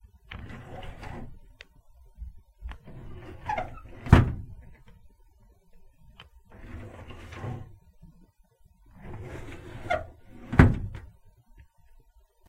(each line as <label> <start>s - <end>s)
Squeaky metal filing cabinet 0.4s - 1.4s
Squeaky metal filing cabinet 2.9s - 4.6s
Squeaky metal filing cabinet 6.5s - 7.7s
Squeaky metal filing cabinet 9.0s - 11.0s